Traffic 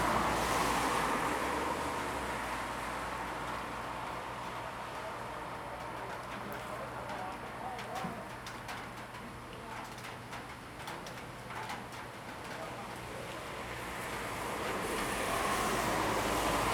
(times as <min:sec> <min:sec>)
0:00.0 0:06.0, 0:13.4 0:16.7